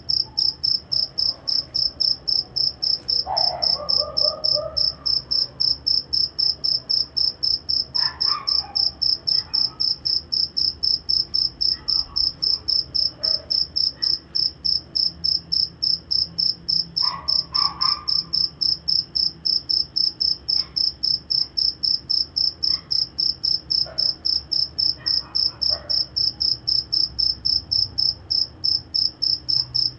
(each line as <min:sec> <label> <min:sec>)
0:03.2 Dogs 0:05.6
0:08.0 Dogs 0:10.0
0:11.7 Dogs 0:14.3
0:17.0 Dogs 0:18.3
0:18.1 single cricket 0:29.9
0:23.8 Dogs 0:24.2
0:24.9 Dogs 0:26.2